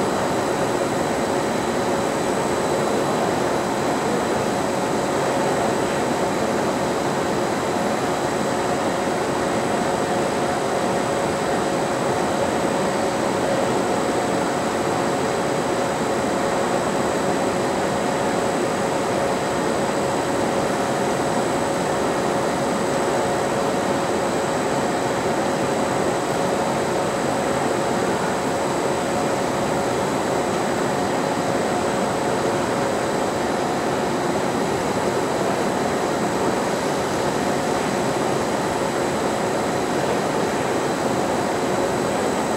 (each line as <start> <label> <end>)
0.0 Factory machine 42.5